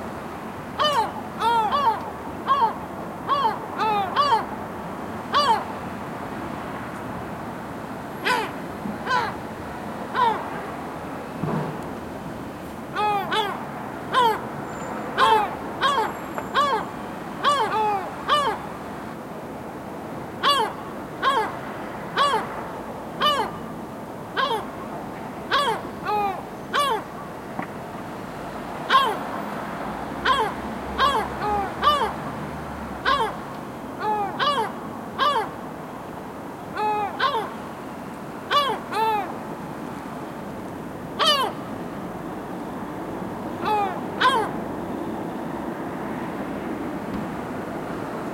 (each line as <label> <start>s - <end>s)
traffic 0.0s - 48.3s
seagulls on my roof 0.8s - 4.6s
seagulls on my roof 5.2s - 5.8s
seagulls on my roof 8.2s - 9.5s
seagulls on my roof 10.1s - 10.6s
seagulls on my roof 12.9s - 18.8s
seagulls on my roof 20.4s - 22.6s
seagulls on my roof 23.2s - 23.7s
seagulls on my roof 24.3s - 27.4s
seagulls on my roof 28.9s - 29.4s
seagulls on my roof 30.2s - 32.4s
seagulls on my roof 33.0s - 35.7s
seagulls on my roof 36.6s - 37.8s
seagulls on my roof 38.5s - 39.5s
seagulls on my roof 41.1s - 41.9s
seagulls on my roof 43.4s - 44.8s